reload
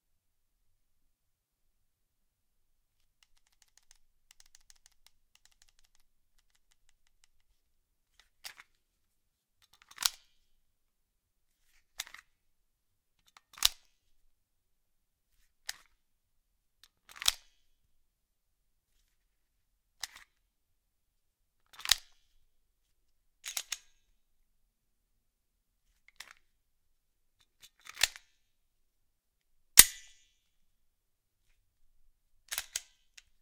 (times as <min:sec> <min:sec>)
0:29.8 0:30.2